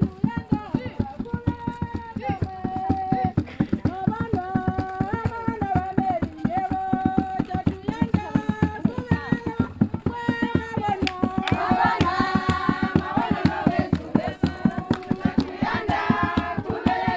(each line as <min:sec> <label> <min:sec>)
0:10.9 Welcome song 0:17.1